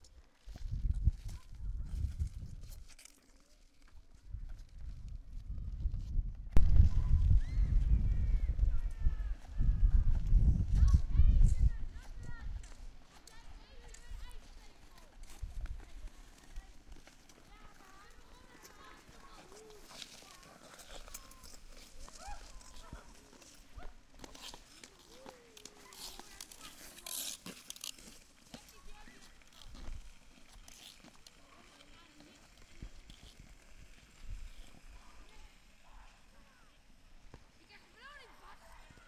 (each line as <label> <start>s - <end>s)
skaters passing by 0.0s - 6.2s
skaters passing by 6.9s - 39.0s